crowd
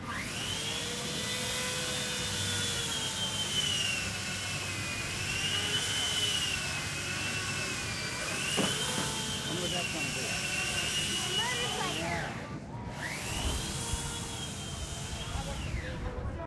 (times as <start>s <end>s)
5.6s 16.4s